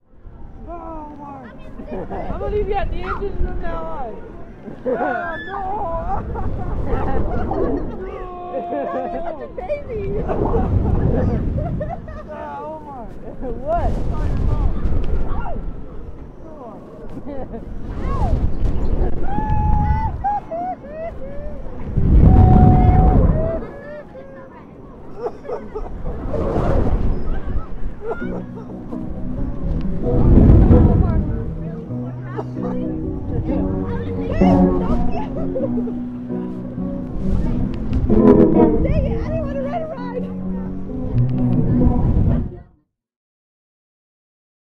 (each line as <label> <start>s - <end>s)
wind 0.0s - 42.8s
coaster's final cycle 27.7s - 42.6s
music 28.1s - 42.8s
talking 30.8s - 36.9s